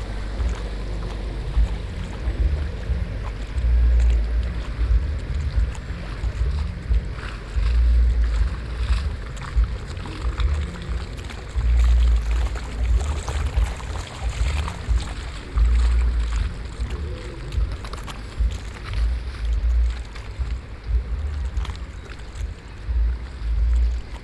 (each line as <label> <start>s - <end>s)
boats on the river 0.0s - 24.2s
low bass music traveling over the water 0.0s - 24.2s
water 0.0s - 24.2s